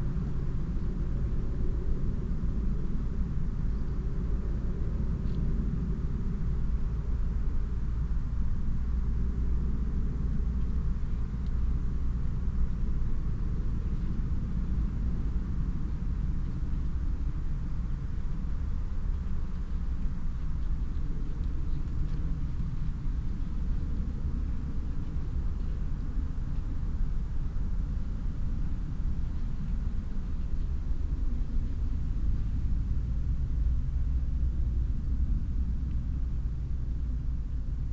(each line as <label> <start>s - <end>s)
plane passing the sky 0.0s - 37.9s
leaves, that move in the mild late summer wind 0.0s - 37.9s
horse moving uphill 9.5s - 37.9s